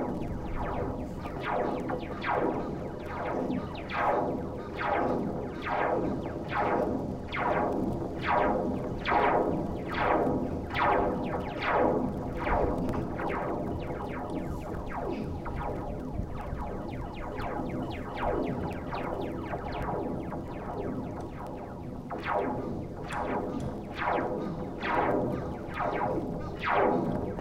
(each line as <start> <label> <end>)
0.0 wind 27.4